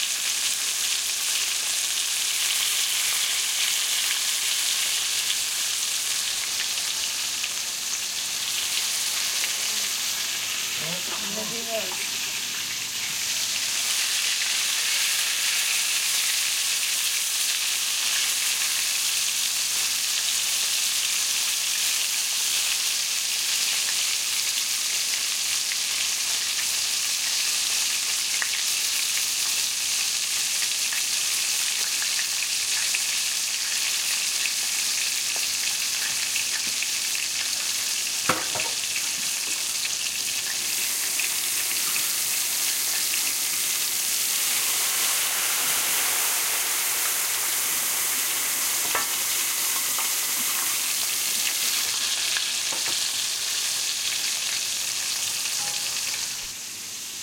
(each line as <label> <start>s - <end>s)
Fish Frying 0.0s - 57.2s